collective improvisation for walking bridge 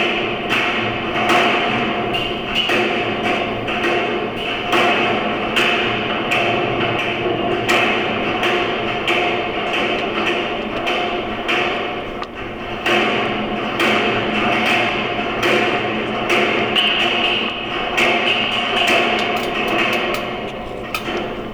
0:19.2 0:21.5

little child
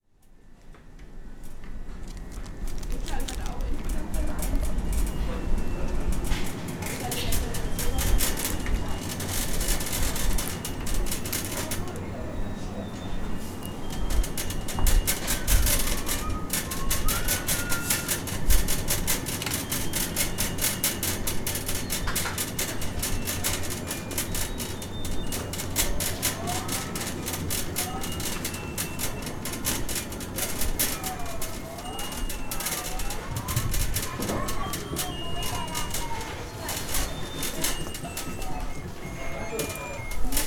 0:15.2 0:18.3, 0:30.4 0:40.4

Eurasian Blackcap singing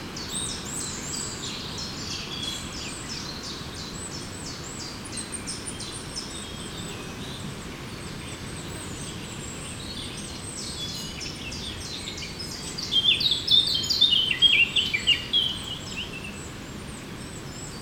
0:08.2 0:16.5

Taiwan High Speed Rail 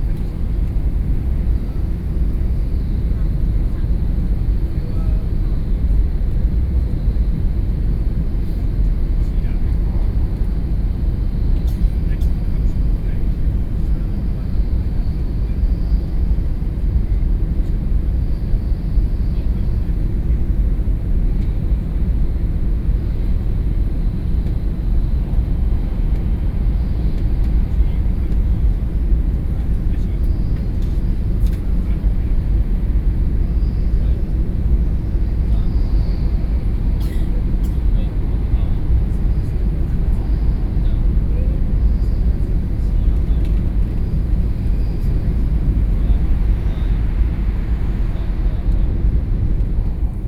0:36.2 0:50.2

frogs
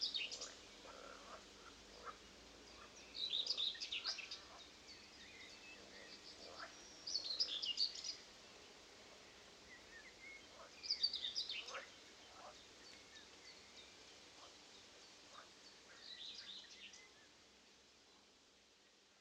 0:00.3 0:02.2, 0:06.4 0:06.8, 0:11.6 0:12.6

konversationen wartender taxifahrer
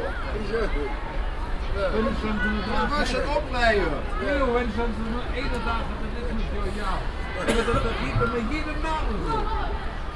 0:01.5 0:09.5

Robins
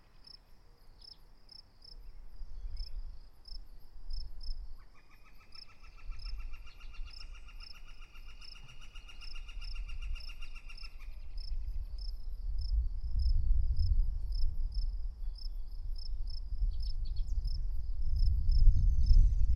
0:00.0 0:12.7

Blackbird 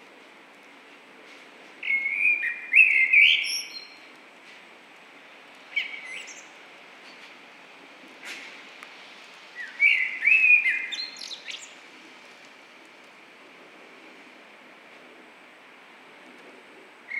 0:01.8 0:04.0, 0:05.7 0:06.5, 0:09.6 0:11.8

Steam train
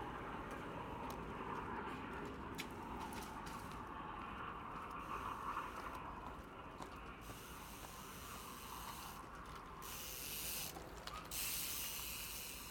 0:02.8 0:12.7

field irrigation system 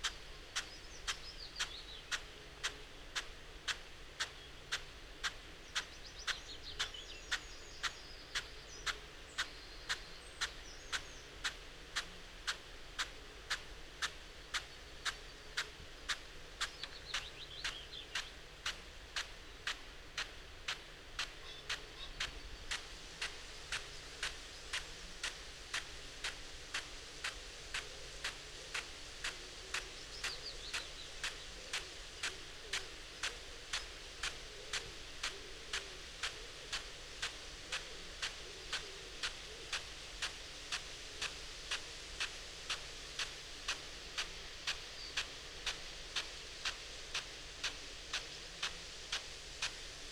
0:18.1 0:50.1

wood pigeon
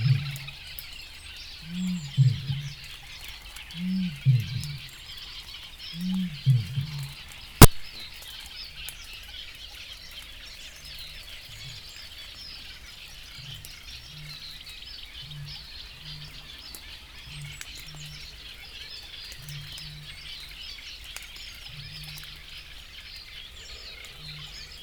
0:00.0 0:00.6, 0:01.6 0:07.8

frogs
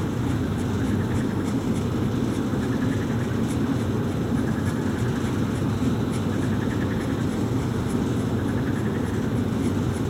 0:02.5 0:03.5, 0:04.3 0:05.3, 0:06.3 0:07.4, 0:08.2 0:09.8

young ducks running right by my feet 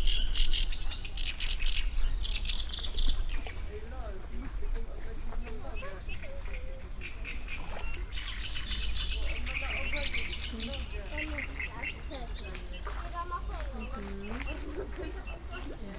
0:09.1 0:15.9

